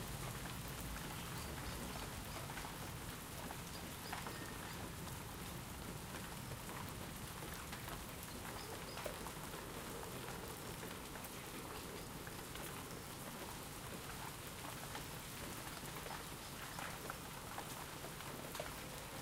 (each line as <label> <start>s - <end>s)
heavyish rain which gently stops 0.0s - 19.2s
wind is audible in the trees 0.0s - 19.2s